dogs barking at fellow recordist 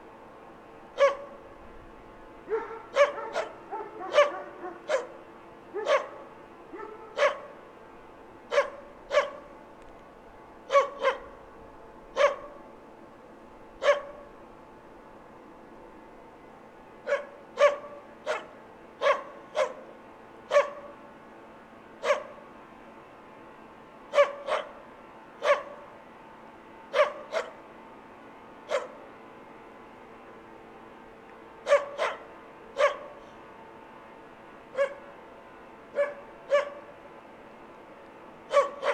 1.0 1.4, 2.5 7.6, 8.5 9.5, 10.7 11.3, 12.2 12.6, 13.8 14.2, 17.1 19.9, 20.5 20.9, 24.1 24.8, 25.4 25.8, 26.9 27.6, 28.7 29.0, 31.6 33.2, 34.8 35.1, 36.0 36.9, 38.5 38.9

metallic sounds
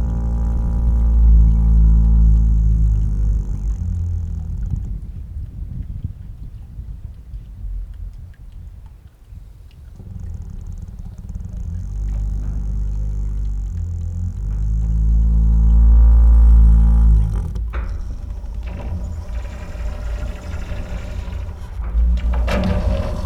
10.8 23.2

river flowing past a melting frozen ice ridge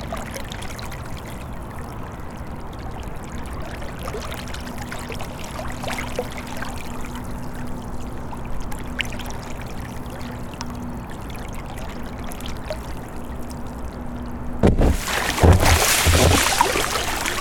14.7 17.4

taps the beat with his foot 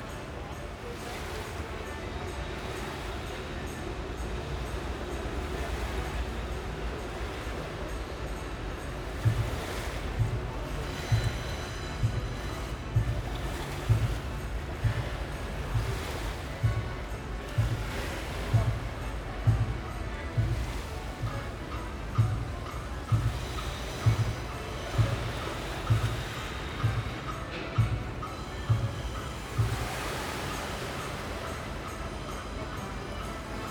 9.2 30.3

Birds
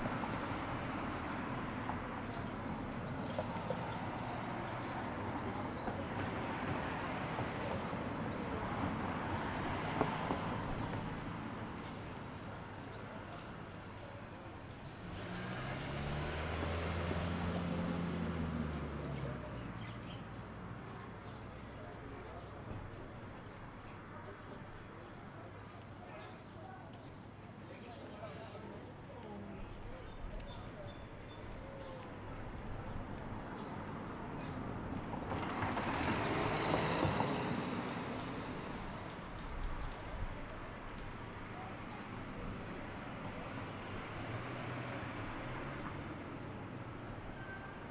18.6 34.7

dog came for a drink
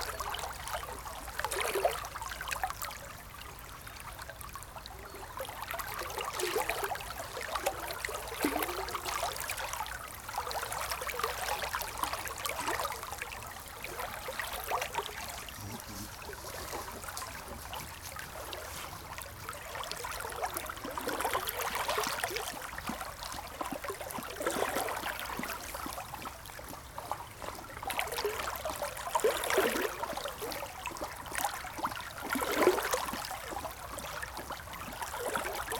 14.5 19.3

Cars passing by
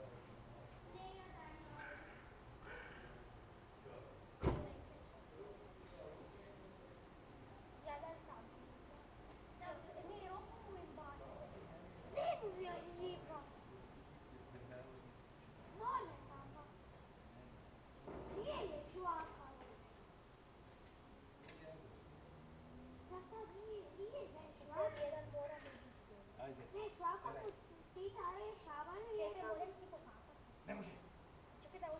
21.1 28.7

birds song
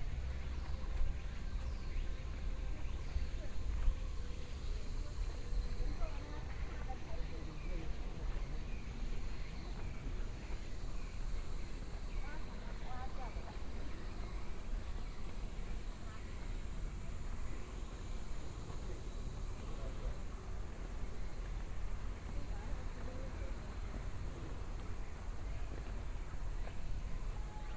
0.0 17.9

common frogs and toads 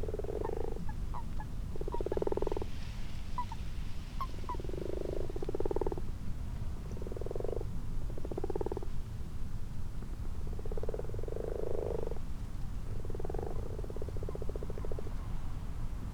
0.0 6.2, 6.8 9.0, 10.5 12.3, 12.9 15.3

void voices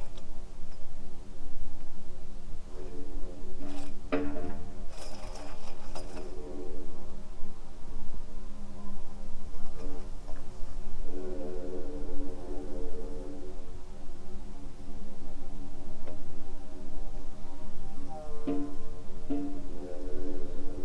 10.7 20.8

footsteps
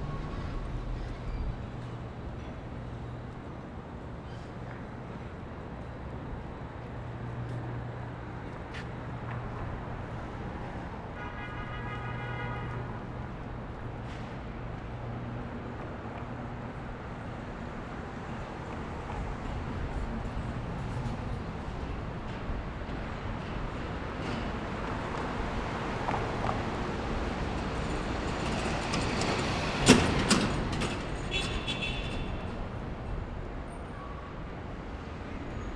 4.4 11.0

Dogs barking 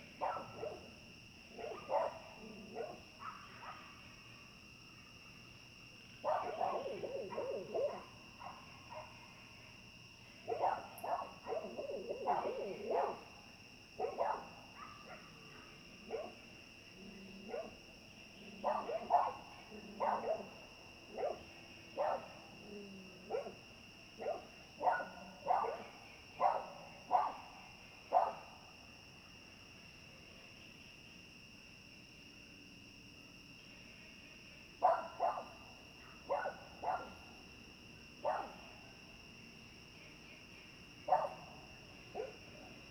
0.2 0.9, 1.5 4.0, 6.2 9.2, 10.5 13.3, 14.0 16.4, 17.4 17.8, 18.5 23.6, 24.2 27.5, 28.1 28.5, 34.8 35.6, 36.2 37.2, 38.2 38.6, 41.1 42.5

